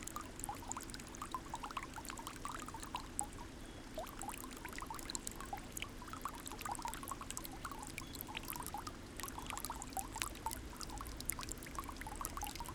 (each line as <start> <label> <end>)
0.0 fountain, thin stream 12.7